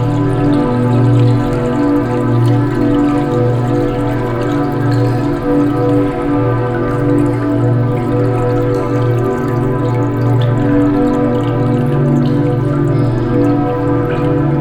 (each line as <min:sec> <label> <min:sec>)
0:00.0 tune played on a bottle glass instrument 0:14.6
0:00.0 water sounds 0:14.6